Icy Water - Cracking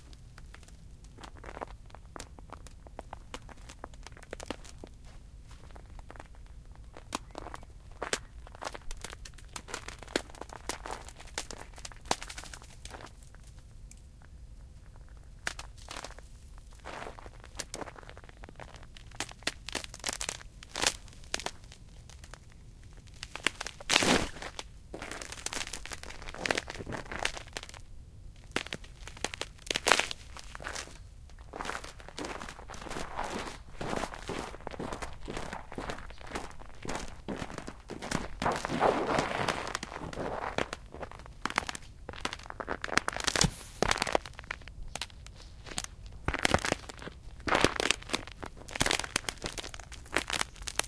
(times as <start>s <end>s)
33.8s 50.8s